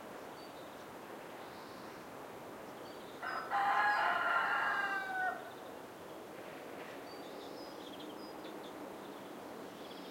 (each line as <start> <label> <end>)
0.0 wind 10.1
0.0 light birds 10.1
3.2 rooster 5.5